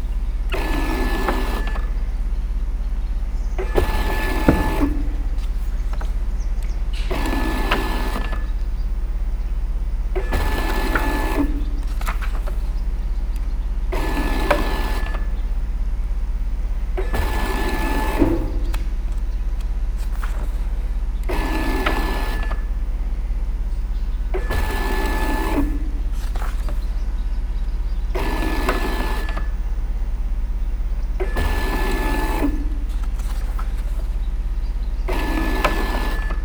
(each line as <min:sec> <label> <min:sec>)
0:00.0 DIY Bookscanner in operation 0:36.4